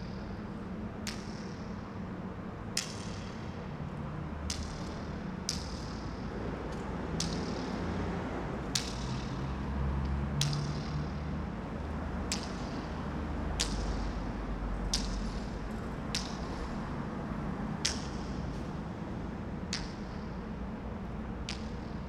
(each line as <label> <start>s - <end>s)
echoes 0.0s - 22.0s